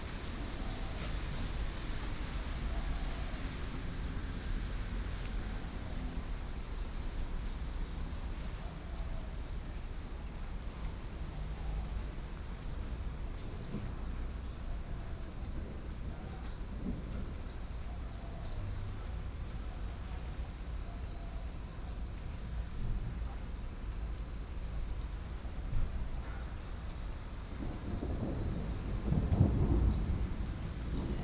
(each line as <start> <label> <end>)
15.0 Thunder 17.8
27.4 Thunder 31.2